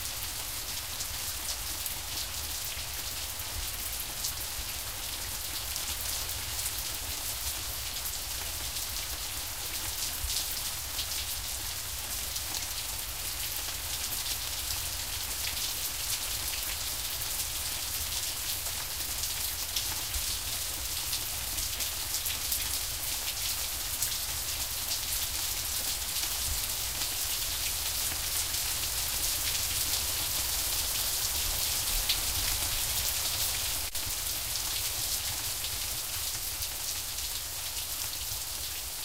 0.0s rain in the gutter 39.0s

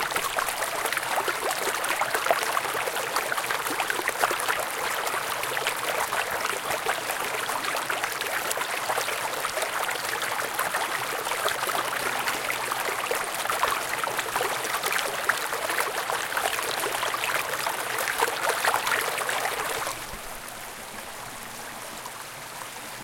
0.0s River flow 23.0s

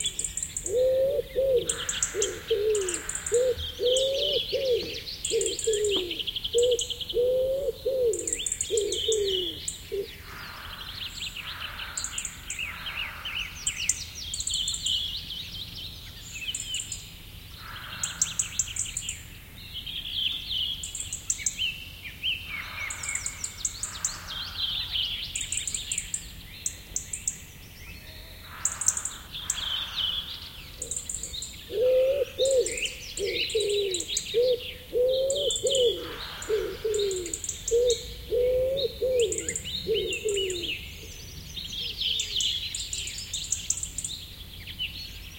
0.0s wood pigeon hooting 10.3s
0.0s other birds in the bg 45.3s
30.8s wood pigeon hooting 41.2s

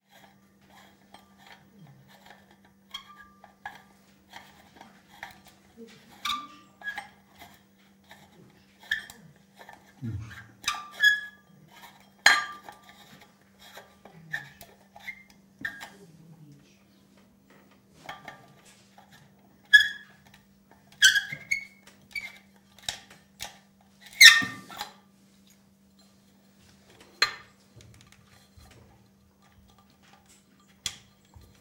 6.1s squeaks 9.3s
10.4s squeaks 11.5s
19.7s squeaks 20.2s
21.0s squeaks 22.5s
24.1s squeaks 24.8s

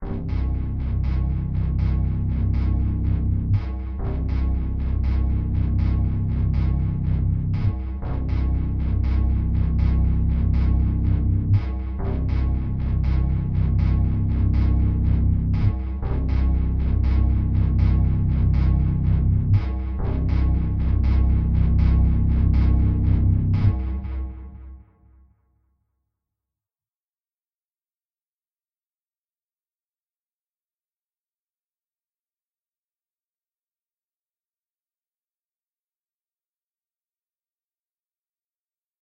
0.0s Bass 25.1s

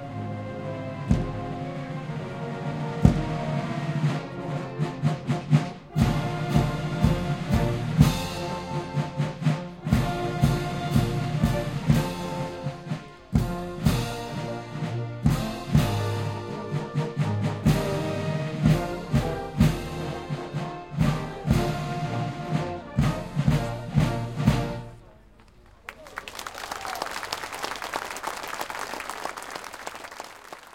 0.0s French National Anthem performed by the Official French Republic Marching Band 30.7s
24.8s voices of people watching 30.7s
25.3s enthusiastic applauses 30.7s

